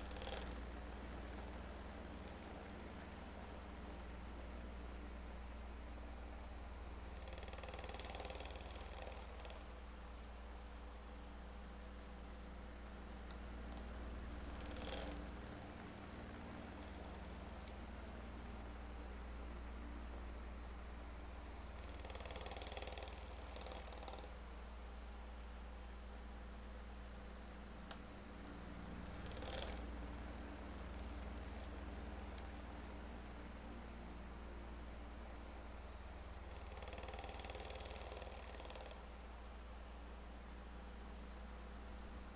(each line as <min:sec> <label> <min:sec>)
0:00.0 old ceiling fan 0:42.3